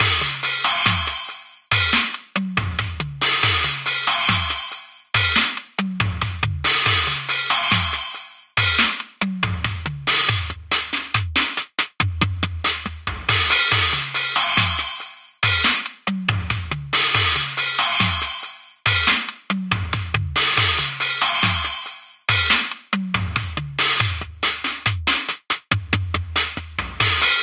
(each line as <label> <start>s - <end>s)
drumloop 0.0s - 27.4s